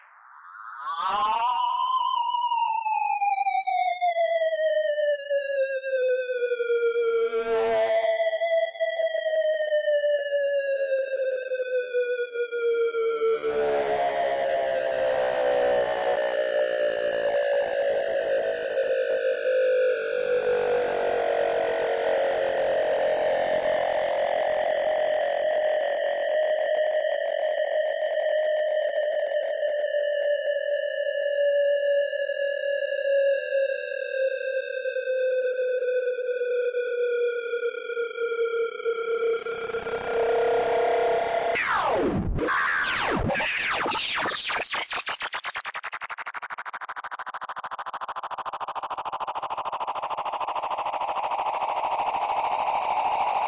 13.4s Feedback texture 25.8s
39.2s Feedback texture 53.4s

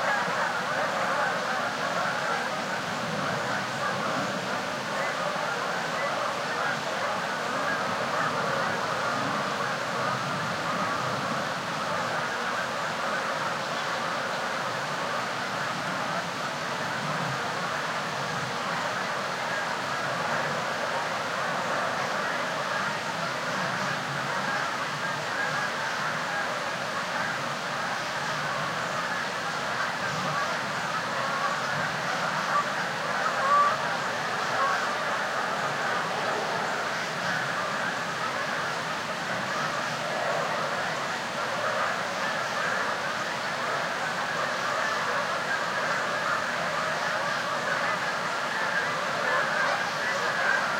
0.0s increasingly loud Canadian geese 50.7s
0.0s rapids of a stream 50.7s

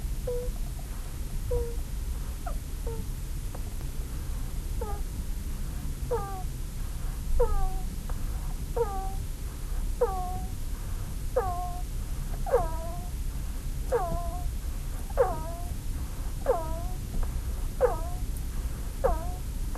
0.2s hamster 19.7s

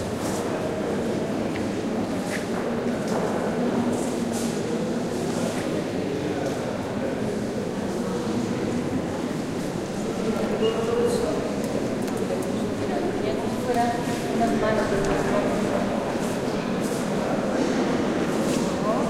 5.2s voices 19.0s

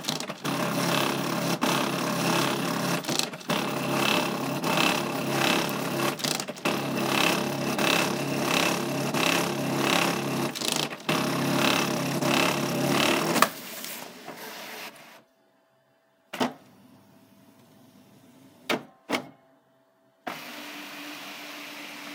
0.0s Broken printer trying to print 13.4s

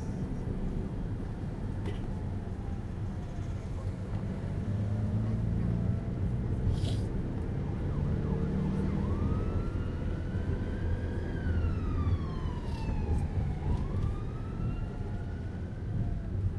0.0s people on the street chatting 9.6s
0.0s Riding a route taxi 16.5s
0.0s traffic 16.5s
4.6s ambulance cruises by 16.5s

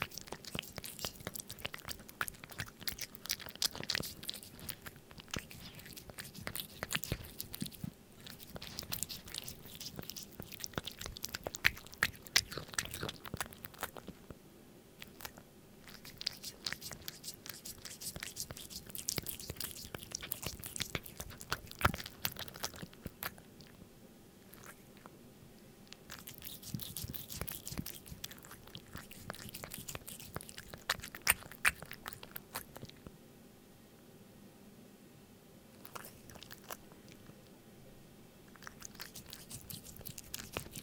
0.0s Cat eats wet food from a small plate 14.4s
0.0s constant low level background hum 40.8s
15.0s Cat eats wet food from a small plate 23.8s
24.5s Cat eats wet food from a small plate 25.1s
25.9s Cat eats wet food from a small plate 33.1s
38.5s Cat eats wet food from a small plate 40.8s

